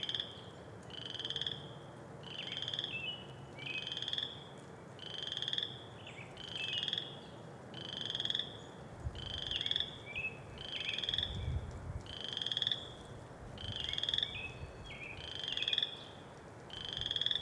0.0s Bullfrogs 3.0s
3.8s Bullfrogs 10.0s
10.6s Bullfrogs 11.4s
12.0s Bullfrogs 14.5s
15.2s Bullfrogs 17.4s

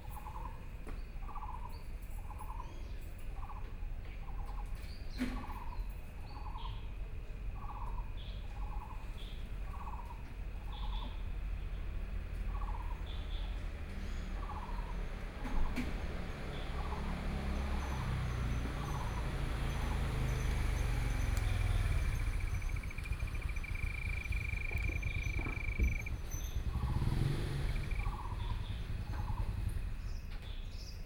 10.3s Traffic Sound 31.0s
16.9s Frogs sound 29.5s
17.0s Insects sound 29.3s

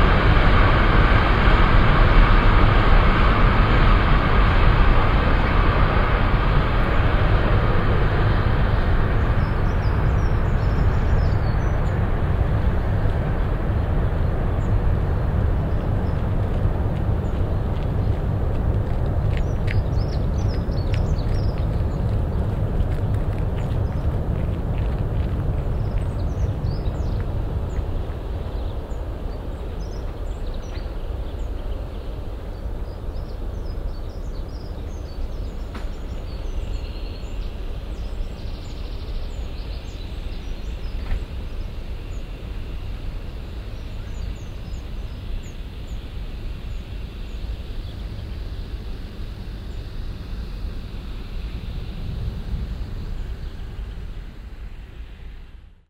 16.1s jogger 26.5s

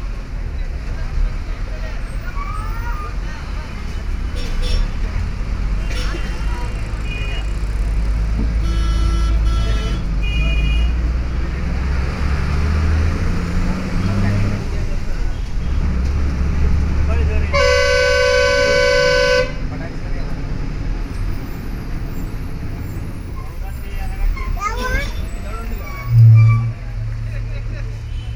18.1s Bus departure 28.1s

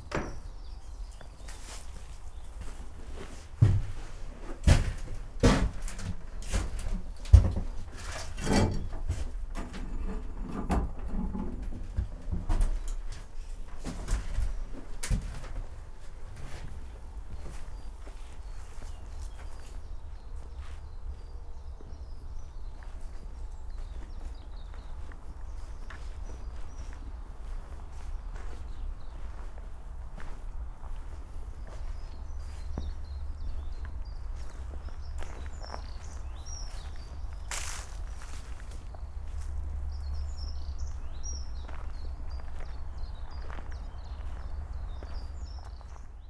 11.0s slow walk 46.2s

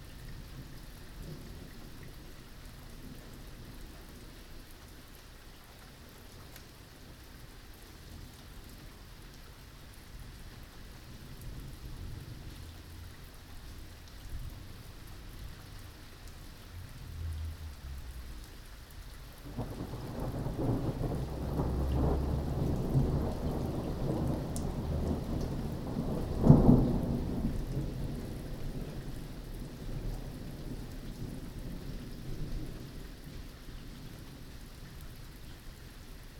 0.0s rain that turns into hail 36.3s
19.4s thunder 29.0s

